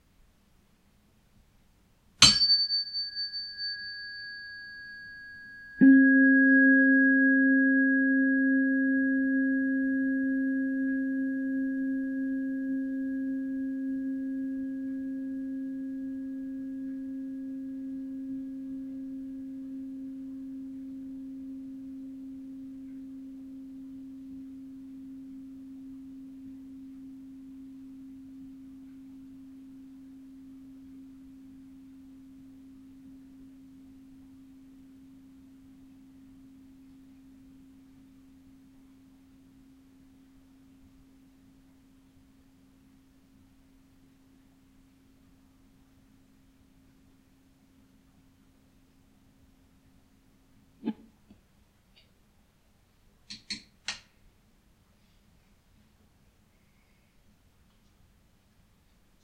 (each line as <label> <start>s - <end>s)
tuning fork applied to a tenor ukulele 2.2s - 47.1s